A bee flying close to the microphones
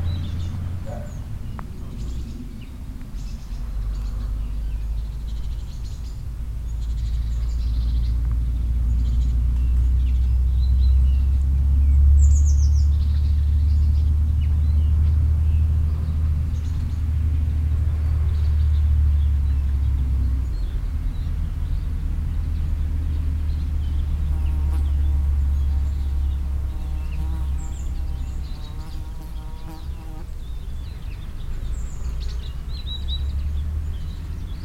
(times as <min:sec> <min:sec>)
0:24.0 0:30.3